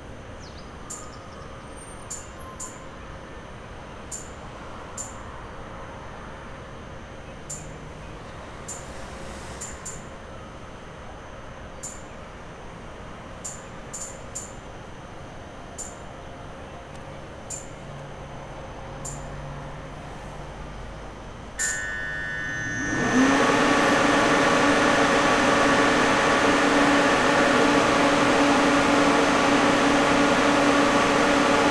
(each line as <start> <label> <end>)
0.4 people go by, entering or exiting the train 23.2
6.8 train getting ready to leave 12.2
17.5 train getting ready to leave 31.7